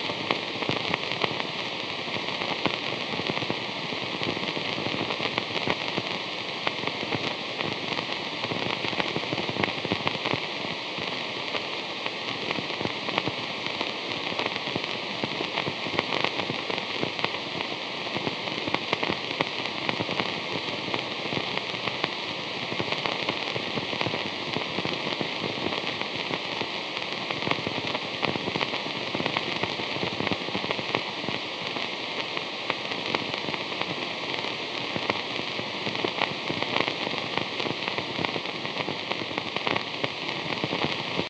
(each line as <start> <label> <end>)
0.0 Synthesized vinyl crackle sound 41.2
0.0 vhs hum 41.2
0.0 white noise 41.2